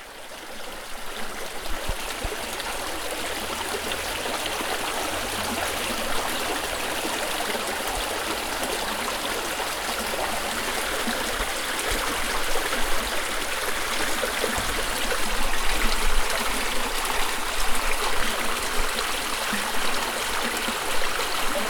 river 0:00.0 - 0:21.6

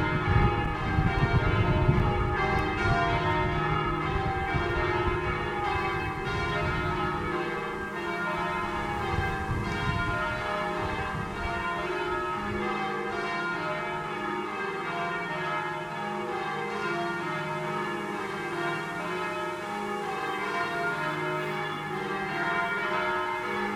wind in nearby trees 0:00.0 - 0:12.7
slight wind distortion on the microphone 0:00.0 - 0:13.2
Bells 0:00.0 - 0:23.7

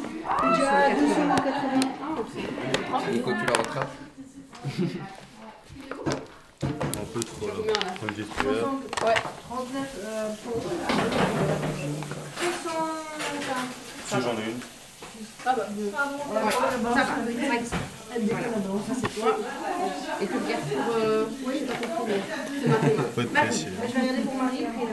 People 0:00.0 - 0:24.9

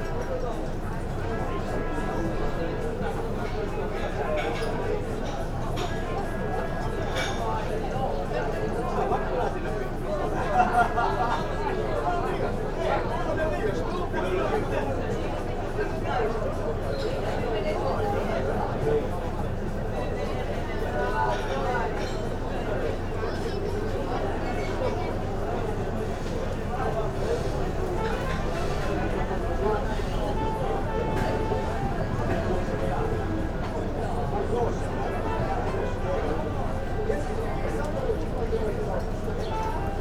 murmur of people at the cafe and restaurant 0:00.0 - 0:40.0
trumpet comes from one of the sealing boats 0:27.2 - 0:37.7

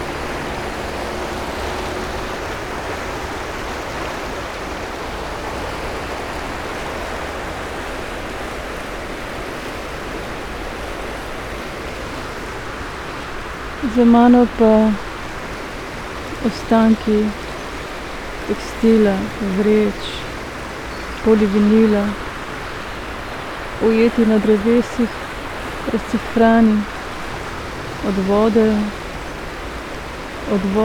river flow 0:00.0 - 0:30.8
words 0:13.8 - 0:15.0
words 0:16.4 - 0:17.4
words 0:18.4 - 0:20.3
words 0:21.2 - 0:22.3
words 0:23.8 - 0:25.2
words 0:25.8 - 0:27.0
words 0:28.0 - 0:29.0
words 0:30.5 - 0:30.8

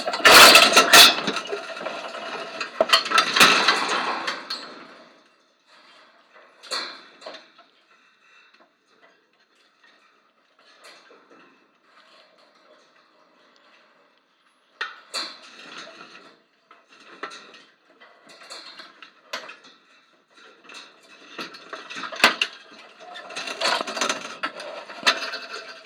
chain link fence 0:00.0 - 0:05.0

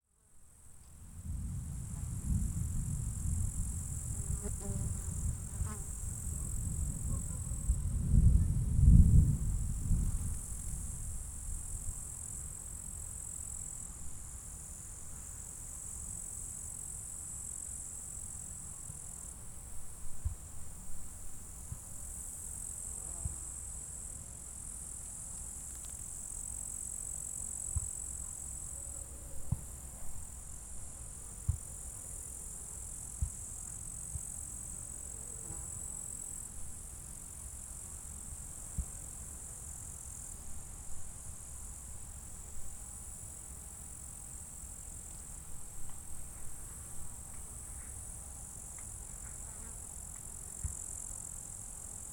thunder storm approaching 0:01.2 - 0:04.2

